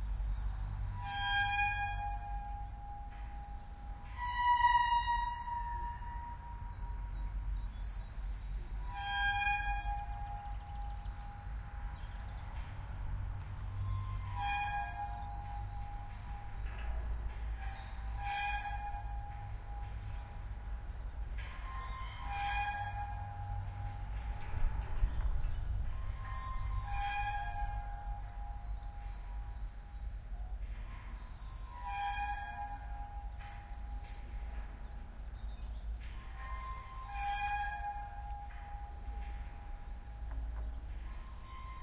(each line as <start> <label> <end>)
21.4 metal pole slowly going up and down, lightly rubbing 29.7